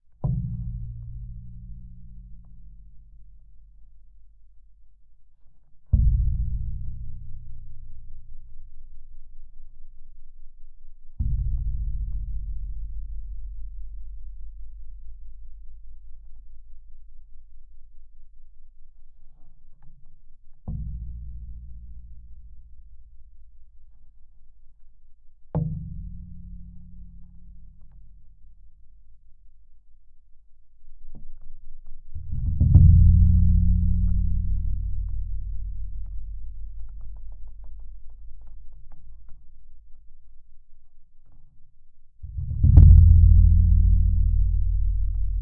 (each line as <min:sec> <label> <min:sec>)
0:31.9 Low Heavy Metal Impacts 0:40.1
0:42.2 Low Heavy Metal Impacts 0:45.4